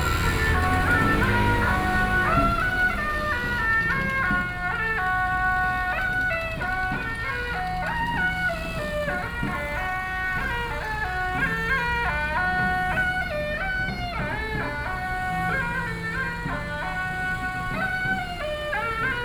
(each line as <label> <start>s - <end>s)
Garbage trucks will be arriving music 0.0s - 19.2s
Traditional temple Carnival 0.0s - 19.2s
Traffic Noise 0.0s - 19.2s